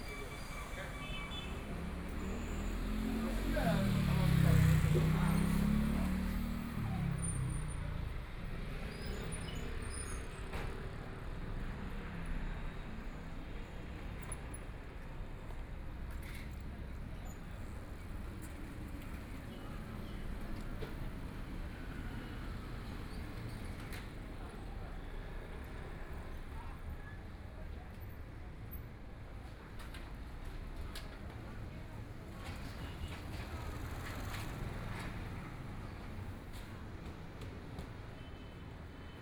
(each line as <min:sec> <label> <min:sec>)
0:00.0 Traffic Sound 0:27.4
0:28.9 Traffic Sound 0:39.2